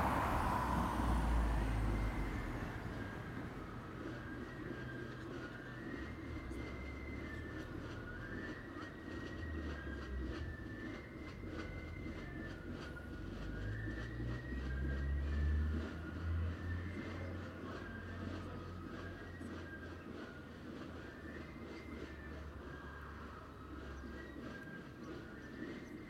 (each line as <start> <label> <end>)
0.0 Drum & Fife band setting out past the Church, playing loudly 26.0